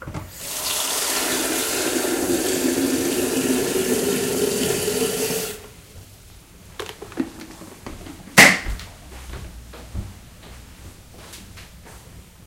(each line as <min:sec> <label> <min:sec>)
0:00.3 Filling a kettle 0:05.7